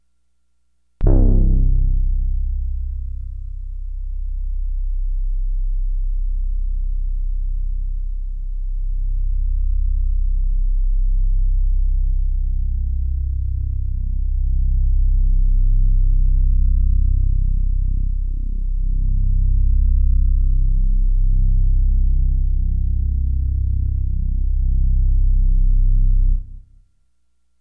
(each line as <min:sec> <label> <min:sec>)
0:01.0 Low brasslike drone 0:04.0